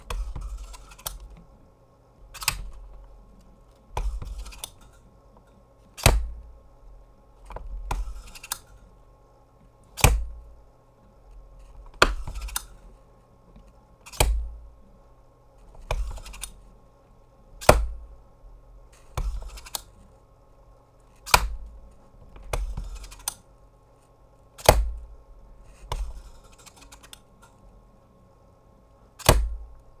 stapler top opening and closing 0:06.0 - 0:06.4
stapler top opening and closing 0:21.3 - 0:21.7
stapler top opening and closing 0:29.2 - 0:29.7

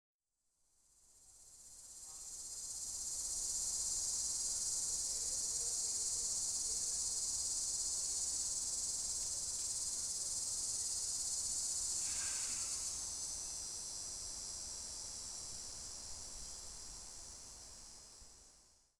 Cicada 0:00.8 - 0:18.9

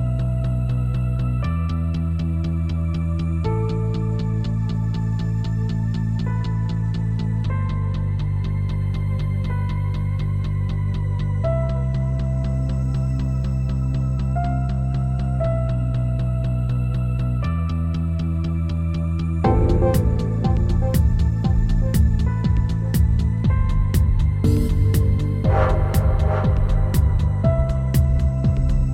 Bass 0:00.0 - 0:28.9
piano 0:00.0 - 0:28.9
Kick 0:19.4 - 0:28.9
synths 0:19.4 - 0:28.9

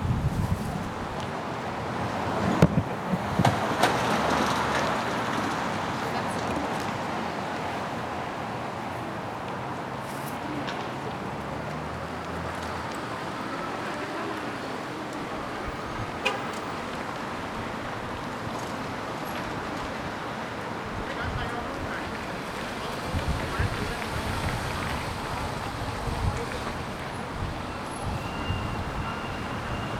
Traffic 0:00.0 - 0:29.9

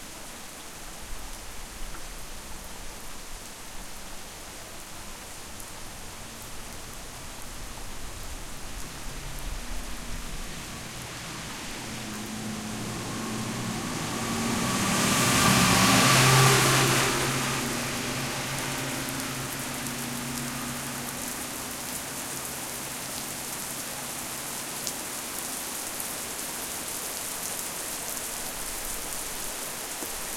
rain 0:00.0 - 0:30.3
cars 0:08.6 - 0:25.4

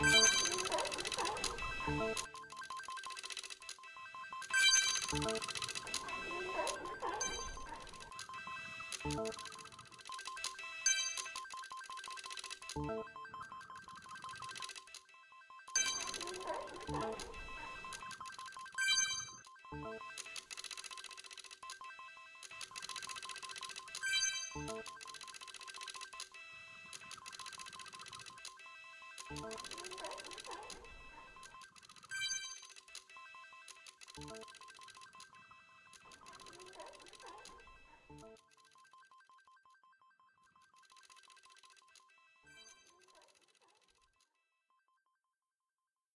coins 0:00.0 - 0:12.8
seals 0:05.0 - 0:09.4
coins 0:13.8 - 0:15.1
coins 0:15.8 - 0:19.5
coins 0:20.1 - 0:38.7
coins 0:40.7 - 0:44.1

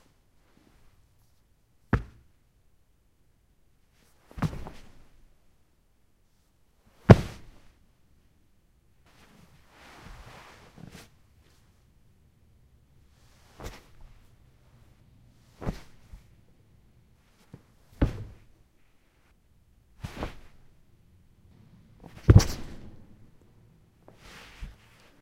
dropped my body on the carpet 0:01.9 - 0:02.3
dropped my body on the carpet 0:04.3 - 0:05.1
dropped my body on the carpet 0:07.0 - 0:07.7
dropped my body on the carpet 0:13.4 - 0:14.3
dropped my body on the carpet 0:15.5 - 0:16.3
dropped my body on the carpet 0:17.4 - 0:18.5
dropped my body on the carpet 0:20.0 - 0:20.6
dropped my body on the carpet 0:22.0 - 0:23.2

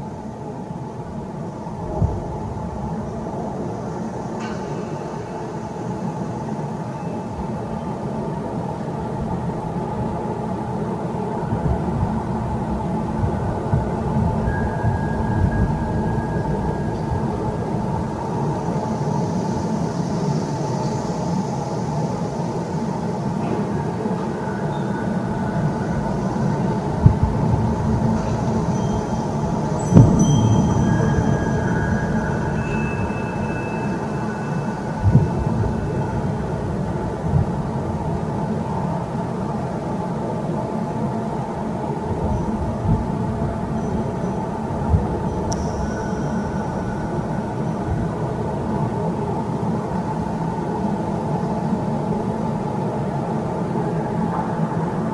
Wind 0:00.0 - 0:55.1
windchimes 0:14.0 - 0:19.8
windchimes 0:24.3 - 0:37.2
windchimes 0:42.3 - 0:49.2

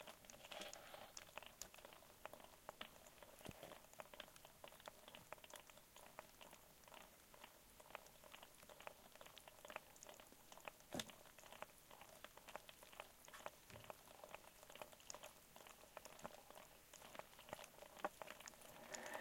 lobsters 0:00.0 - 0:19.2

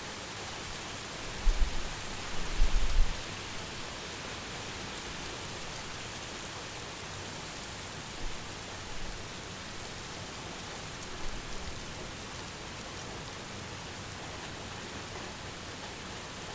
Rain 0:00.0 - 0:16.5

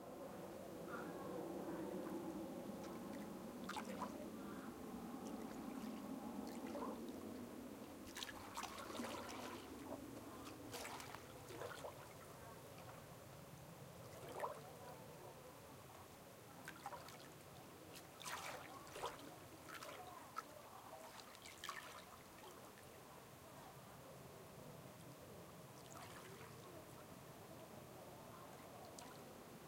sea waves 0:00.0 - 0:13.2
sea waves 0:14.0 - 0:15.0
sea waves 0:16.6 - 0:22.8
sea waves 0:25.8 - 0:27.0

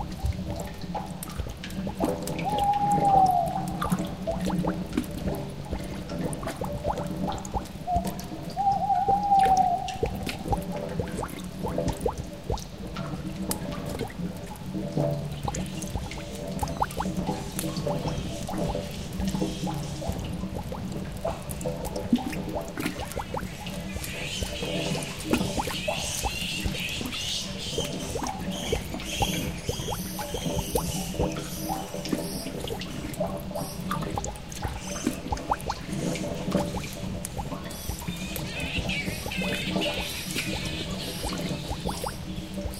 owl 0:02.4 - 0:03.6
owl 0:07.9 - 0:10.0
bats 0:36.6 - 0:42.7

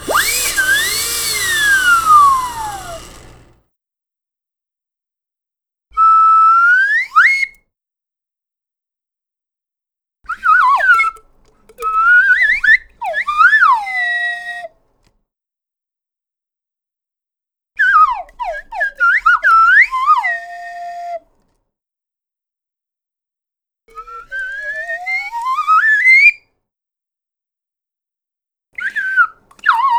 Slide whistle effects 0:00.0 - 0:03.6

